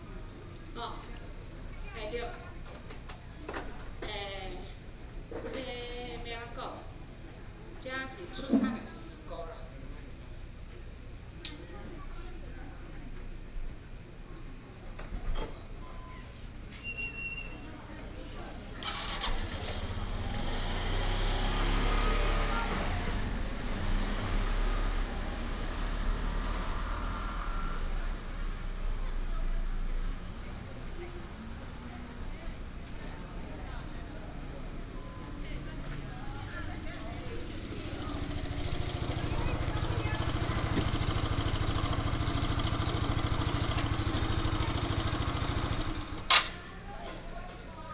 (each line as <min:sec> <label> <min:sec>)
0:15.7 Tourists 0:47.9
0:17.8 traffic sound 0:47.6